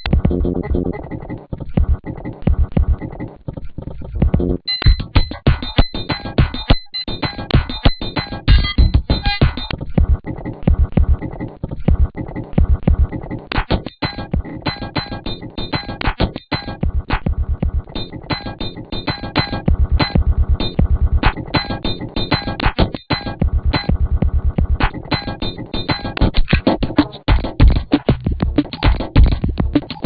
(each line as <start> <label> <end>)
0.0 glitch 30.0